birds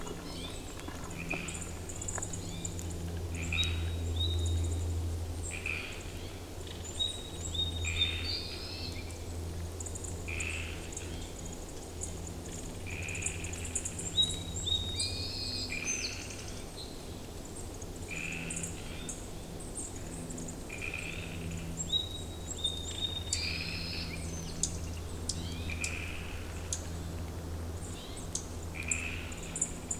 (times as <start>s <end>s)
0.0s 4.3s